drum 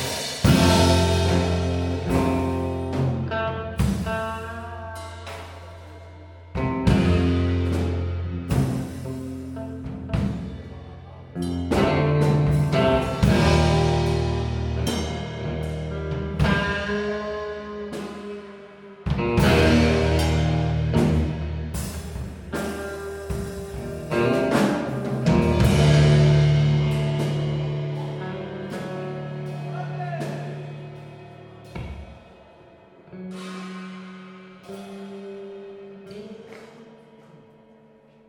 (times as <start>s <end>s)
0.0s 3.2s, 6.6s 10.7s, 11.4s 17.2s, 19.1s 32.6s